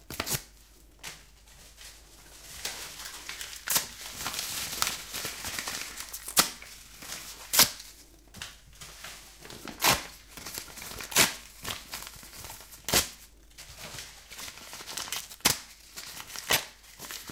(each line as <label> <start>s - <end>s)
Ripping Paper 0.1s - 0.5s
Ripping Paper 2.4s - 8.0s
Ripping Paper 9.2s - 17.3s